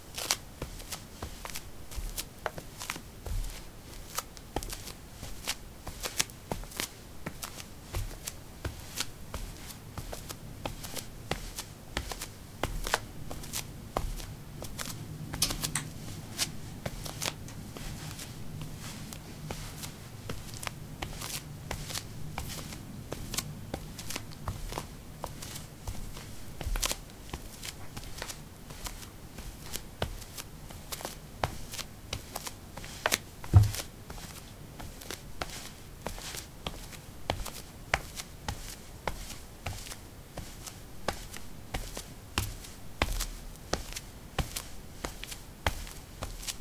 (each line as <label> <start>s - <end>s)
paving 02a socks walk 0.0s - 46.6s